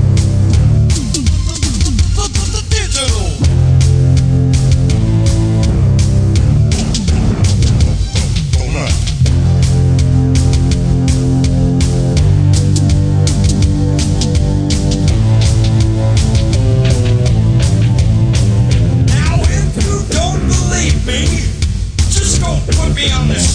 0.0s Beats 23.5s
0.0s Keyboards 23.5s
0.0s guitar 23.5s

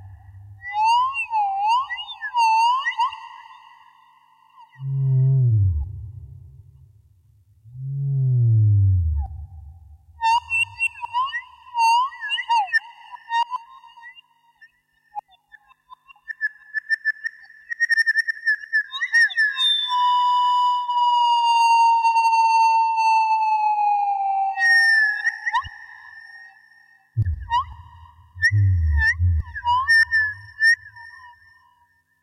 0.0s Sine waves with echo 32.2s

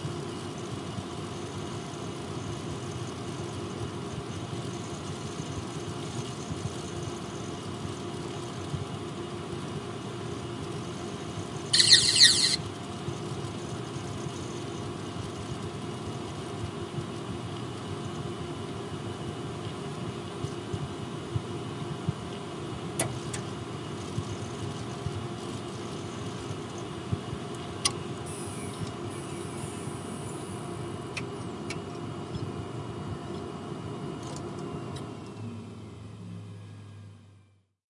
11.8s computer starts up 12.6s
11.8s computer shuts down 12.6s

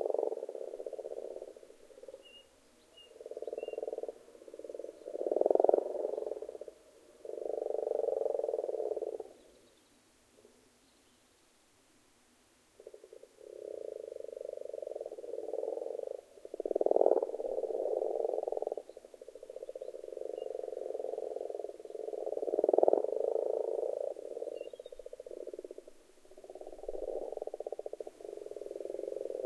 0.0s frogs (Rana temporaria) croaking 9.6s
12.8s frogs (Rana temporaria) croaking 29.4s

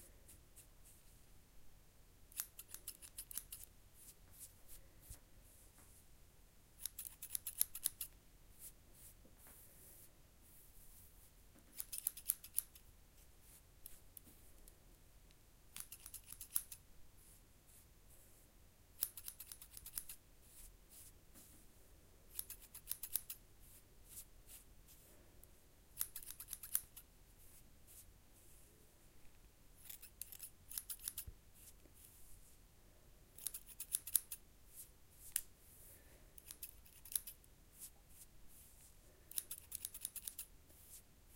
2.3s snipping of short hair 3.7s
6.8s snipping of short hair 8.1s
11.7s snipping of short hair 12.8s
15.7s snipping of short hair 16.8s
19.0s snipping of short hair 20.2s
22.3s snipping of short hair 23.4s
26.0s snipping of short hair 27.0s
29.8s snipping of short hair 31.3s
33.4s snipping of short hair 34.4s
35.7s Light breathing 36.4s
36.4s snipping of short hair 37.4s
39.3s snipping of short hair 40.5s

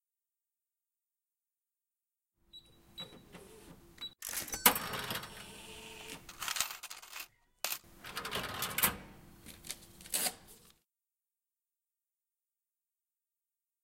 2.6s cash register being used 9.2s
4.2s coins 5.3s
6.3s coins 8.9s

